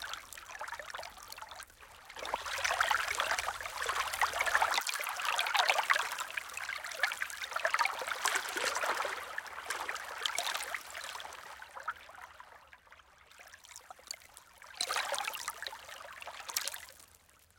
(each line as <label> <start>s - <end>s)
Lake Waves 0.0s - 12.5s